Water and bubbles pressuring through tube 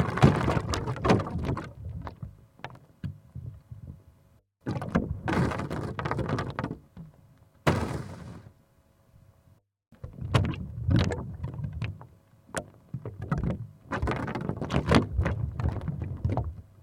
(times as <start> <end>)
0.0 2.4, 10.0 16.8